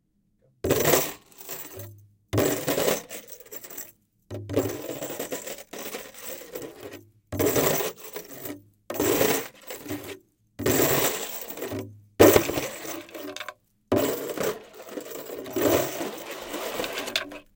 Chain Drum 0:00.7 - 0:17.5
scrapes 0:11.3 - 0:17.5

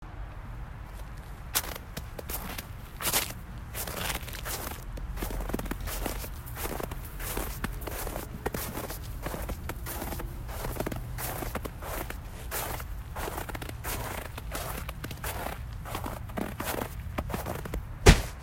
Walking on Snow 0:00.9 - 0:18.4

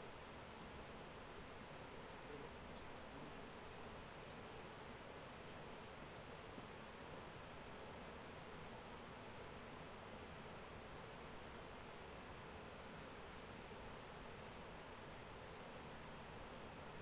river 0:00.0 - 0:17.0

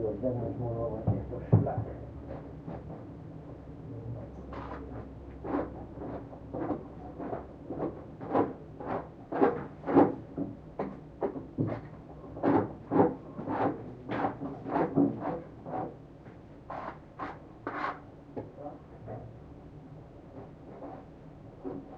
voice 0:00.0 - 0:02.0

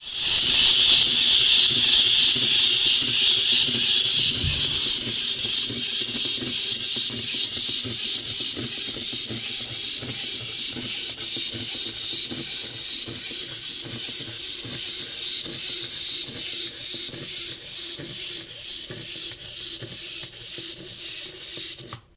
Hi pitched scrapey clockwok noise 0:00.0 - 0:22.1

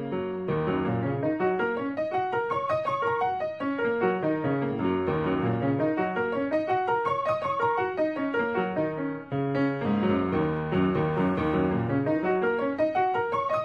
Piano 0:00.0 - 0:13.6

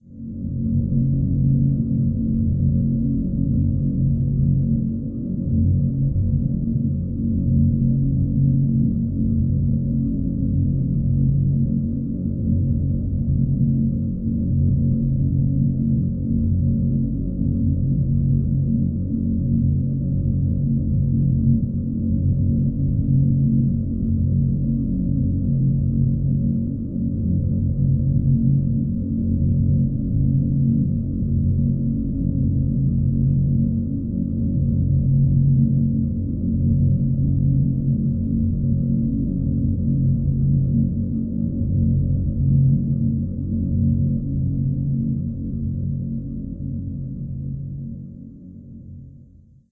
rumble 0:00.0 - 0:49.7

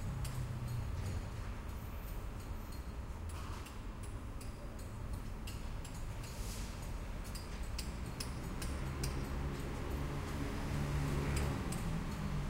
traffic sound from the street 0:00.0 - 0:12.4

